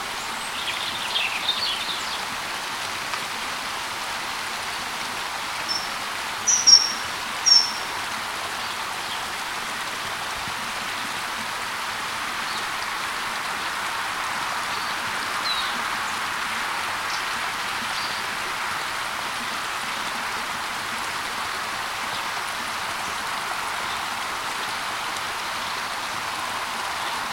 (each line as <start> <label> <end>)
0.0 stream 27.3
5.6 birds 9.3